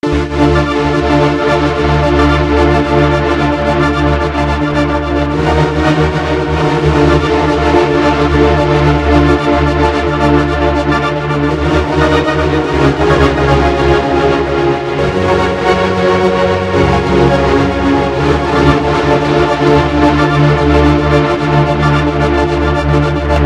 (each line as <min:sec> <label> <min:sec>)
0:00.0 keyboard 0:23.4